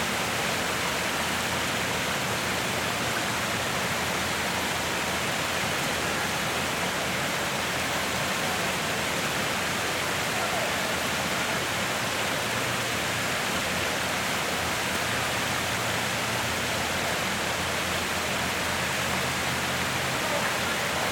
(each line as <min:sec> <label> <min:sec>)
0:00.0 artificial waterfall 0:21.1
0:00.0 traffic 0:21.1